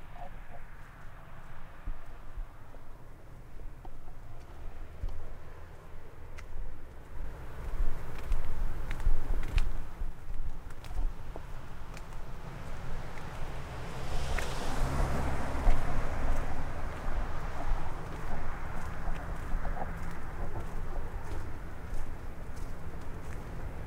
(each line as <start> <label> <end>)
0.2 Walking 23.8
10.7 leaves 23.8